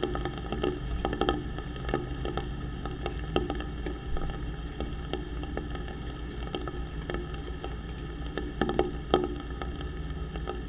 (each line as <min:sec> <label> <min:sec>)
0:00.0 pipe and rain 0:10.6